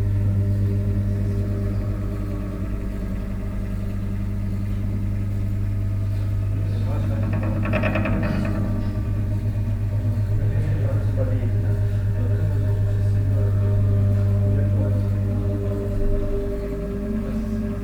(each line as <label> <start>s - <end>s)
voices in the background 6.0s - 17.8s